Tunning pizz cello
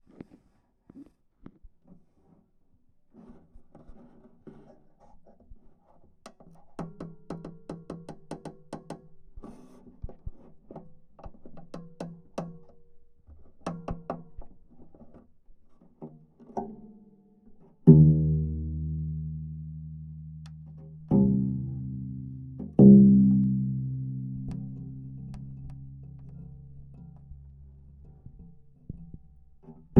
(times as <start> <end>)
17.8 29.9